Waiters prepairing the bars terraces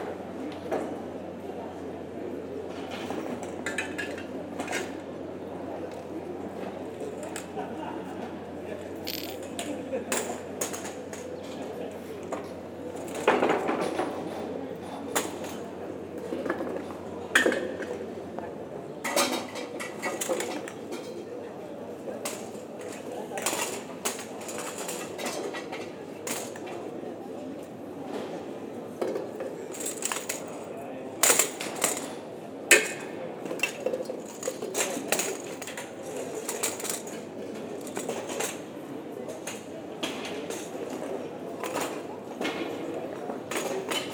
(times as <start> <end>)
19.1 44.1